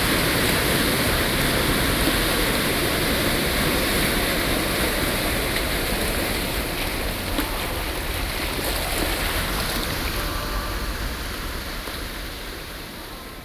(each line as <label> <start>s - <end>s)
Waves 0.0s - 13.4s